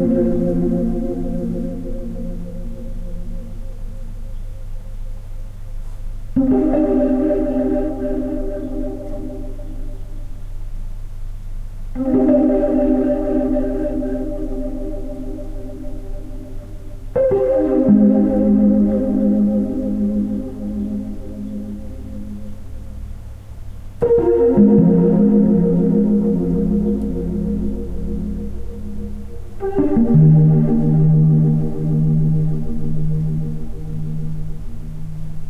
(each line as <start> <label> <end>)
0.0 electric piano chords 35.4